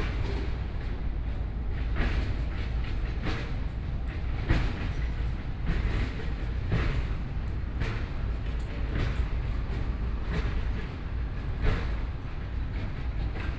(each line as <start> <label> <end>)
6.7 Construction noise 12.4